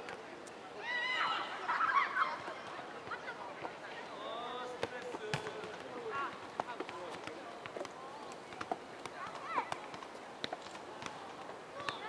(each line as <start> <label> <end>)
0.7 kids playing soccer 12.0